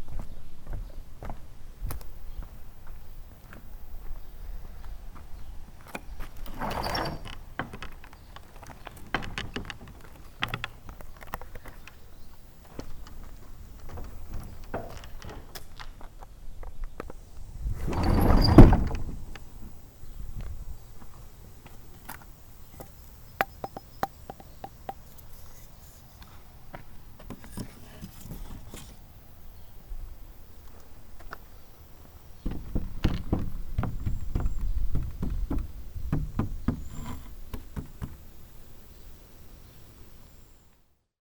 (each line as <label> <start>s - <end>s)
pushing open the door 6.4s - 7.8s
pushing open the door 17.6s - 19.8s
pushing open the door 32.4s - 38.2s